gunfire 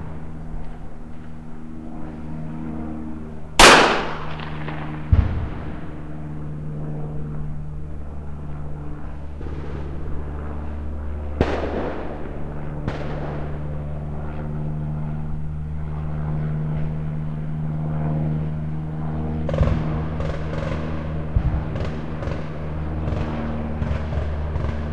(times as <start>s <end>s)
3.6s 5.8s, 11.4s 13.6s